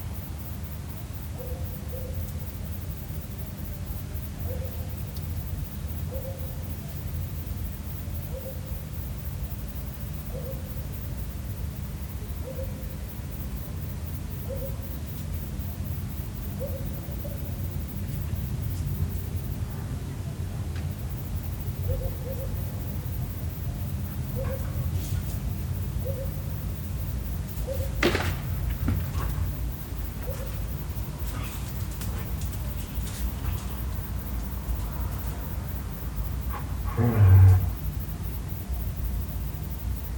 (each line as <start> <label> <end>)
12.1 aves nocturnas 40.1
20.9 otros insectos nocturnos 40.1